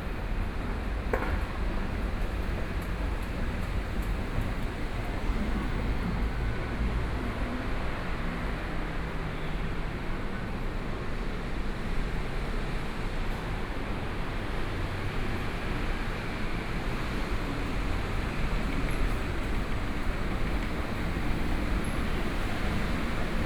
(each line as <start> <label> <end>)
14.3 Traffic Sound 23.4
17.1 Walking on the road 23.4